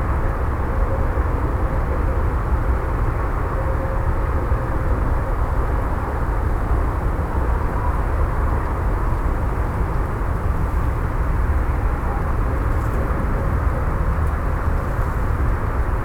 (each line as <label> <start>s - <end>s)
motorway 0.0s - 16.0s